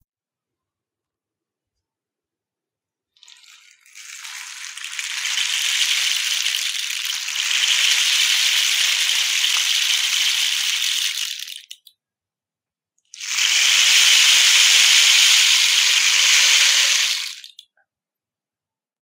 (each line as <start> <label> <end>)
3.2 rainstick 11.9
13.1 rainstick 17.7